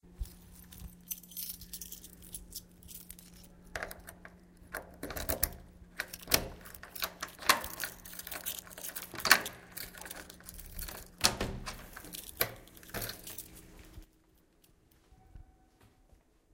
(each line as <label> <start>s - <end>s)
keys 0.1s - 15.7s
Door open key 1.2s - 14.0s